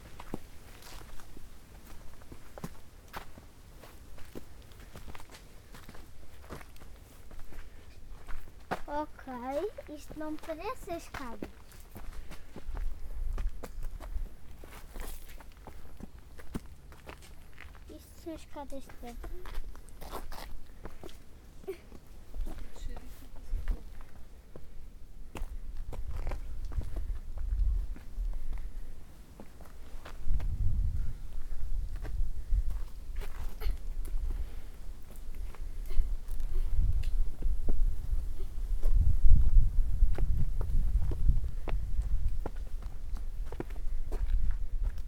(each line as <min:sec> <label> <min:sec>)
0:08.9 children and adults talking 0:11.5